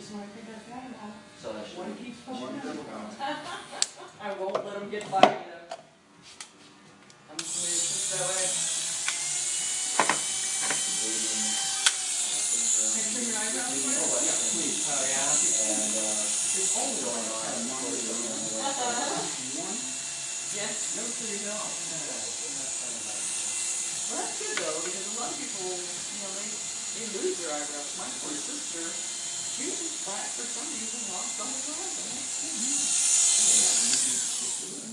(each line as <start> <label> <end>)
0.0 snippets of their conversations 34.9
7.4 clippers 18.8
22.2 clippers 34.9